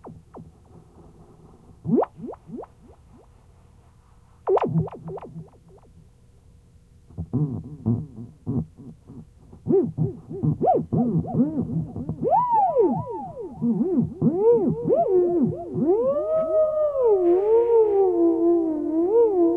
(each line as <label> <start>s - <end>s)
theremin 0.0s - 3.3s
theremin 4.5s - 5.9s
theremin 9.7s - 19.5s